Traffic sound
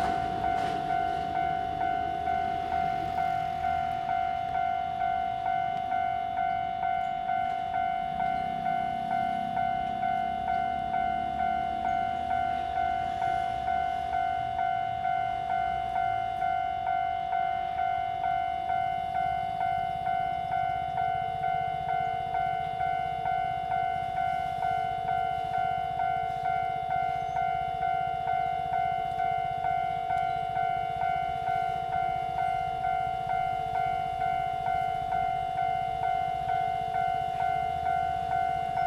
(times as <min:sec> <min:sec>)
0:00.0 0:16.4